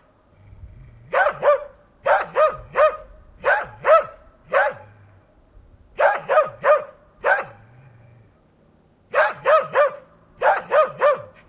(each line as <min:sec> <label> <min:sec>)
0:01.1 Cross-bred dog barking 0:05.0
0:06.0 Cross-bred dog barking 0:07.7
0:09.1 Cross-bred dog barking 0:11.4